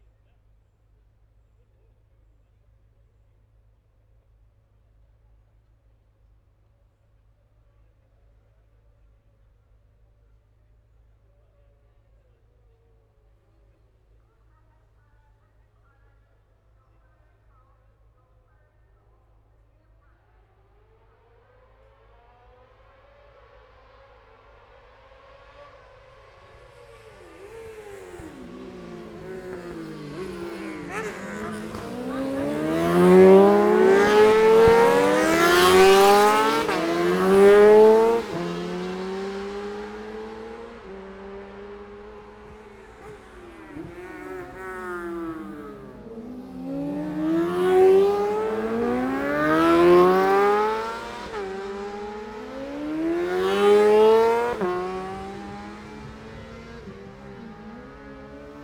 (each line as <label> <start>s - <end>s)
Motorcycle Road Racing 20.4s - 58.6s